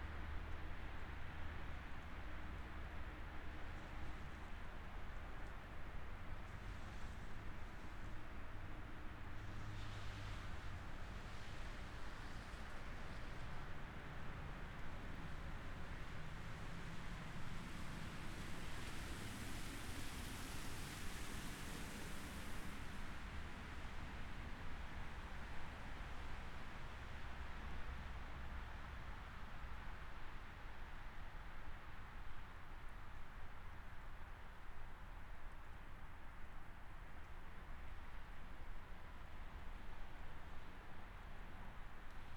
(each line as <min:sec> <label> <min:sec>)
0:06.2 vehicles coming into the parking lot 0:29.6
0:09.4 Road noise 0:27.4